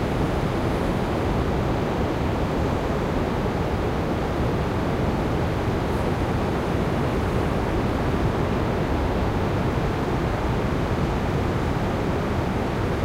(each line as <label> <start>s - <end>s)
Ocean 0.0s - 13.0s